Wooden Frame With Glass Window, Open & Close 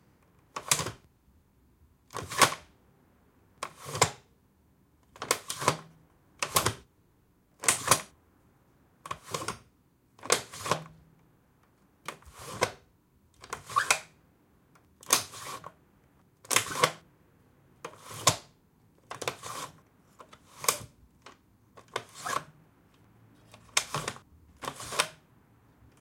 0:00.5 0:01.1, 0:02.1 0:02.7, 0:03.6 0:04.3, 0:05.2 0:06.9, 0:07.6 0:08.1, 0:09.0 0:11.0, 0:12.0 0:14.2, 0:15.0 0:15.8, 0:16.4 0:17.1, 0:17.8 0:22.6, 0:23.3 0:25.3

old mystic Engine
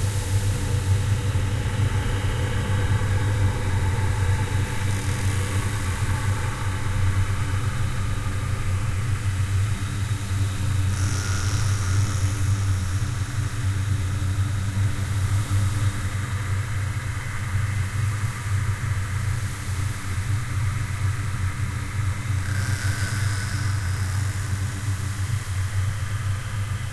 0:00.0 0:19.4

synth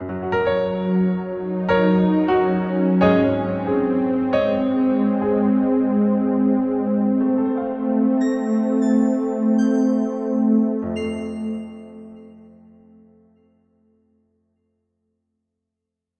0:01.5 0:13.4

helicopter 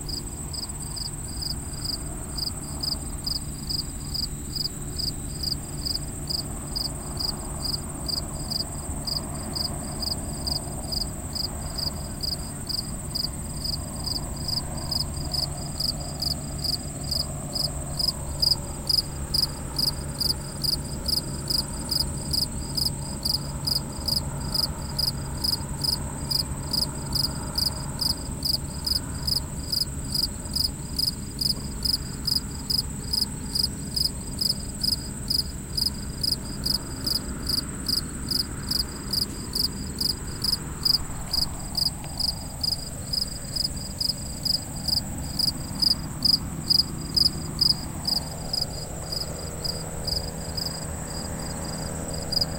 0:06.5 0:30.1

